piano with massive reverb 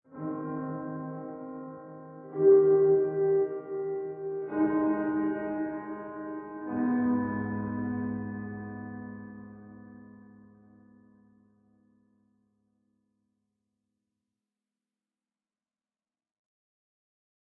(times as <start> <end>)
0.1 12.4